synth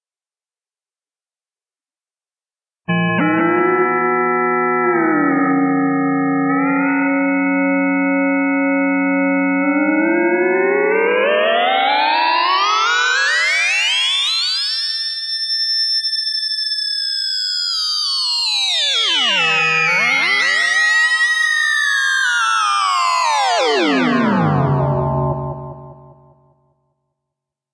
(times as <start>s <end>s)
18.5s 26.5s